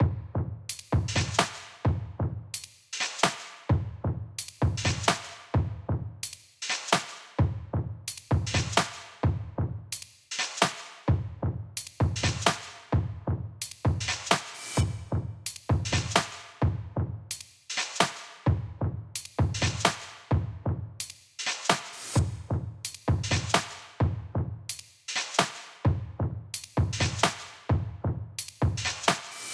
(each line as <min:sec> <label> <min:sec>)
0:00.0 simple beat made in ableton 0:29.5